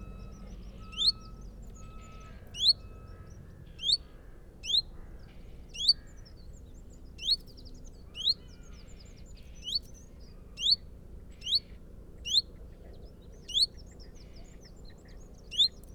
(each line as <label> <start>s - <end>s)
reversing tractor 0.0s - 4.1s